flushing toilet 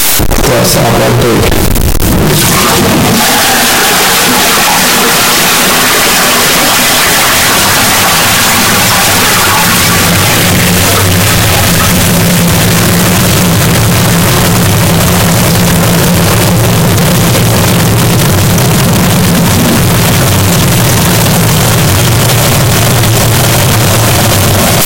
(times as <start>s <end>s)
2.3s 14.2s